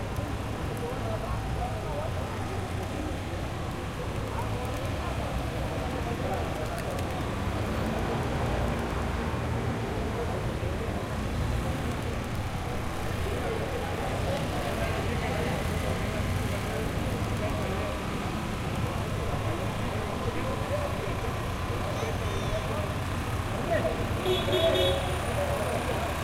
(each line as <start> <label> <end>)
0.0 People 26.2
0.0 Traffic 26.2